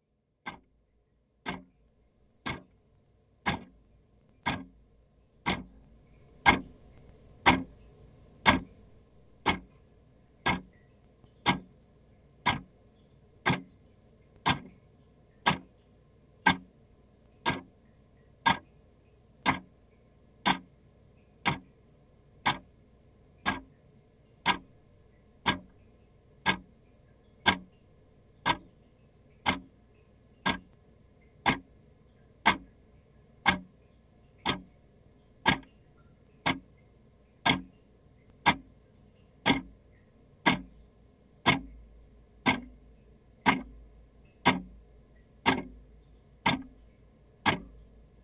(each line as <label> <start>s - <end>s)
clock ticking 0.4s - 0.7s
clock ticking 1.4s - 1.7s
clock ticking 2.3s - 2.7s
clock ticking 3.4s - 3.8s
clock ticking 4.4s - 4.8s
clock ticking 5.4s - 9.8s
clock ticking 10.4s - 11.8s
clock ticking 12.4s - 12.7s
clock ticking 13.4s - 14.8s
clock ticking 15.4s - 15.8s
clock ticking 16.4s - 16.7s
clock ticking 17.3s - 17.8s
clock ticking 18.4s - 18.8s
clock ticking 19.4s - 19.7s
clock ticking 20.4s - 20.8s
clock ticking 21.4s - 21.7s
clock ticking 22.4s - 22.7s
clock ticking 23.4s - 24.7s
clock ticking 25.4s - 27.8s
clock ticking 28.4s - 29.8s
clock ticking 30.4s - 31.7s
clock ticking 32.4s - 35.8s
clock ticking 36.4s - 38.8s
clock ticking 39.4s - 40.8s
clock ticking 41.4s - 48.0s